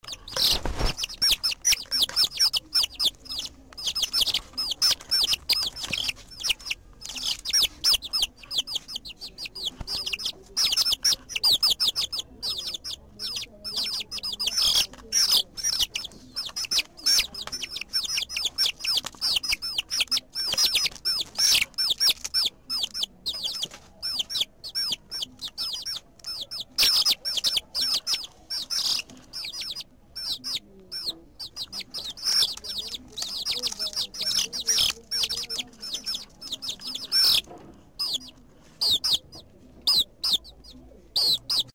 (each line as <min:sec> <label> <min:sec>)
0:00.0 pollitos recien nacidos 0:25.0